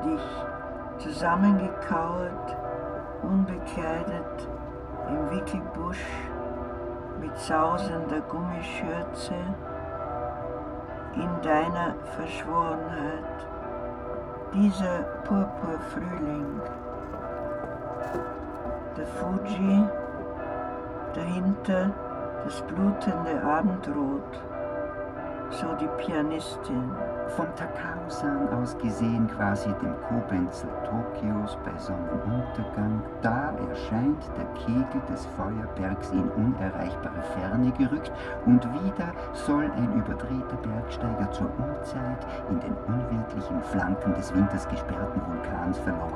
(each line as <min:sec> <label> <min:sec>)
0:00.0 wedding bells 0:46.1